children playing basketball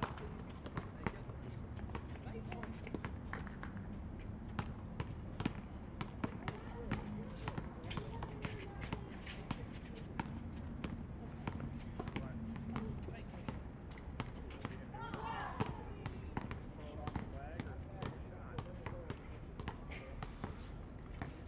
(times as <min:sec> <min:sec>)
0:04.7 0:13.6, 0:14.3 0:16.6